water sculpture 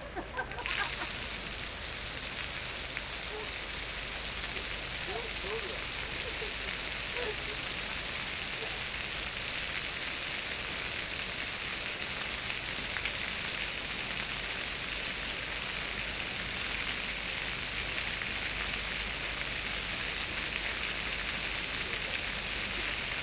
0:00.0 0:12.8

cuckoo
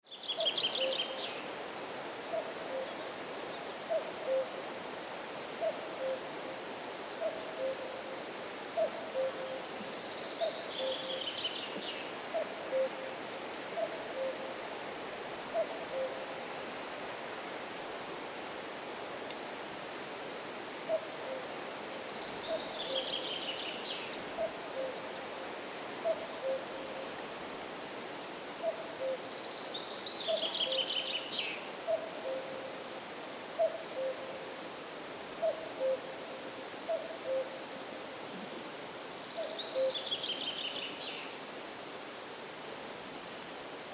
0:12.3 0:13.0, 0:26.0 0:26.8, 0:28.6 0:29.3, 0:31.9 0:32.6, 0:33.6 0:34.4, 0:35.4 0:36.2, 0:36.9 0:37.6, 0:39.4 0:40.0

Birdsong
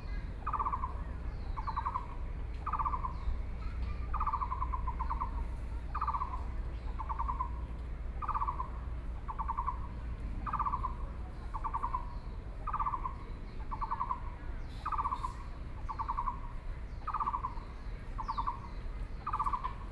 0:12.7 0:19.9

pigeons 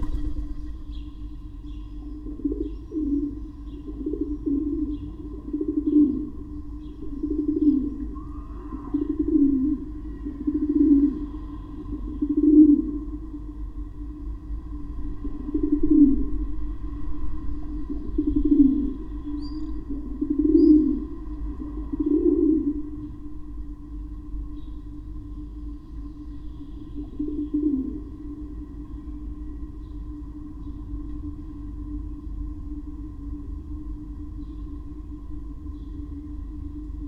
0:00.0 0:13.1

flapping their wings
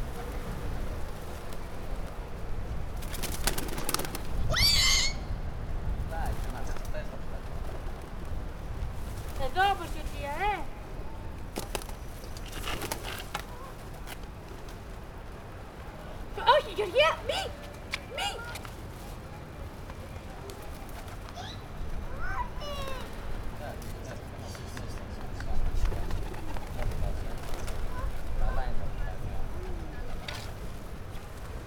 0:02.9 0:04.4, 0:11.5 0:15.6, 0:20.4 0:31.6

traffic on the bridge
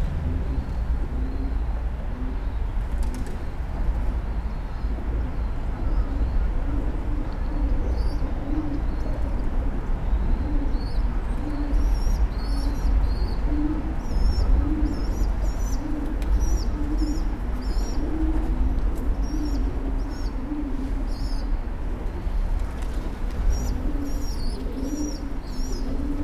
0:00.0 0:05.8

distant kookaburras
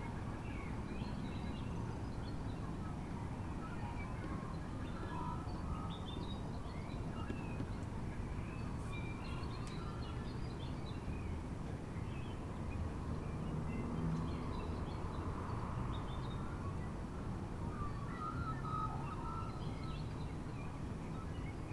0:17.7 0:20.1

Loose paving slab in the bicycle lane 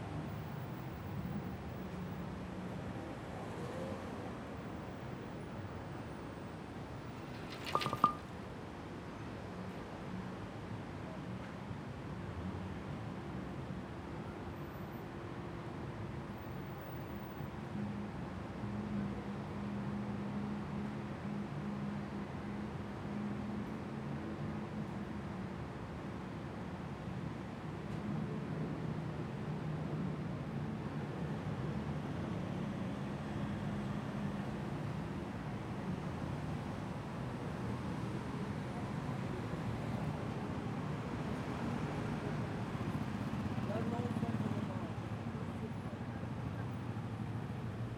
0:07.1 0:08.3

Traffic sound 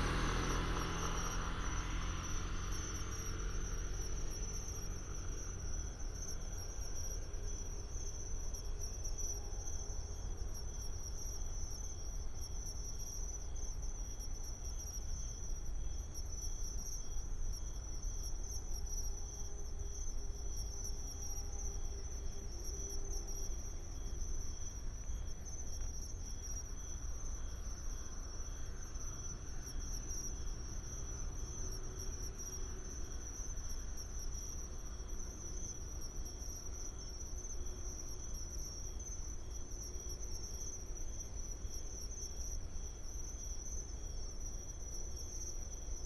0:00.0 0:08.0, 0:21.2 0:38.8

